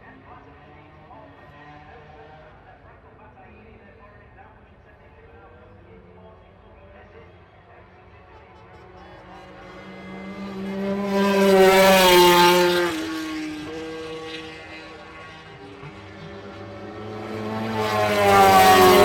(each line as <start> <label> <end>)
4.6 MotoGP warm up 19.0